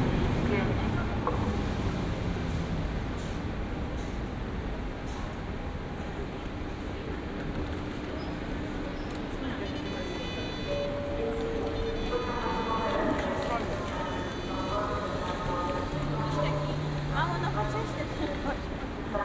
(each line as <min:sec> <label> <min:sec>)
0:09.3 Train anouncements 0:19.2